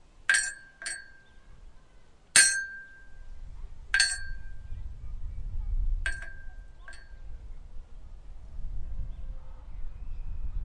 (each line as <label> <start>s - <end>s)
Metal clanging 0.3s - 1.2s
Metal clanging 2.4s - 3.2s
Metal clanging 3.9s - 4.6s